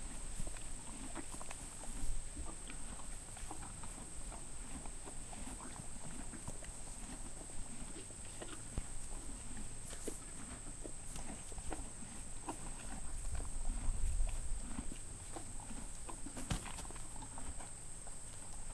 0.0s HORSE EATING GRASS 18.7s

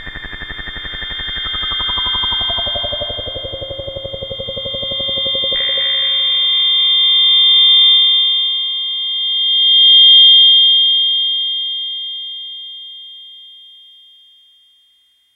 0.0s analog sound device called 'The Benjolin' 7.1s

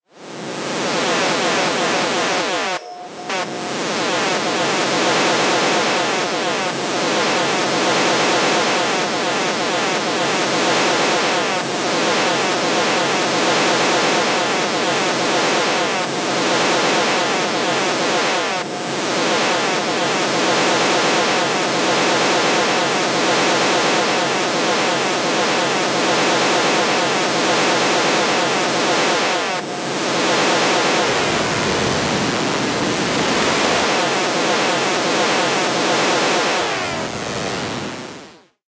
0.4s FM like sweeps 10.0s

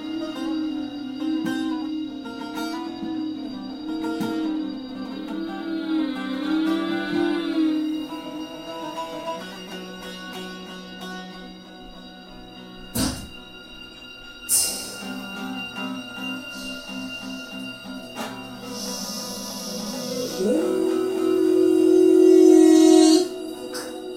0.0s humming of female vocalists 9.6s
0.0s baglama 13.6s
14.6s baglama 24.1s
18.6s humming of female vocalists 24.1s

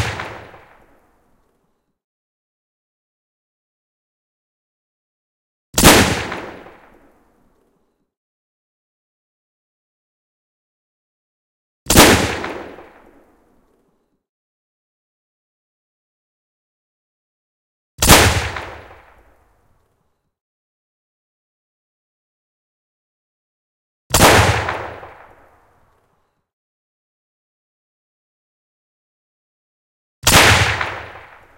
0.0s Gun shots 0.9s
5.8s Gun shots 7.0s
11.9s Gun shots 13.2s
18.0s Gun shots 19.2s
24.1s Gun shots 25.4s
30.2s Gun shots 31.5s

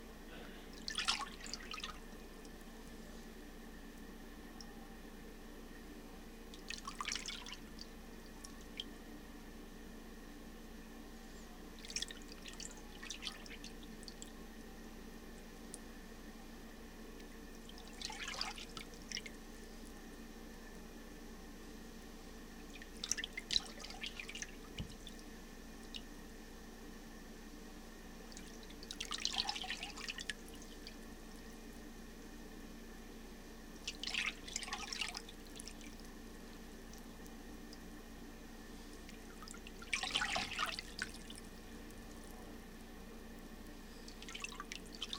33.8s paddling sound done in a plastic utility sink 35.7s

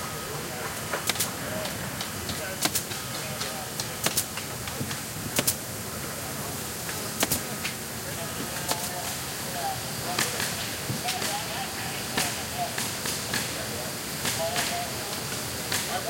0.0s CONSTRUCTION 16.0s
0.0s WORKERS 16.0s
1.0s SAW 1.7s
2.6s HAMMER 4.3s
5.4s HAMMER 5.6s
6.9s SAW 7.7s
7.2s HAMMER 7.5s

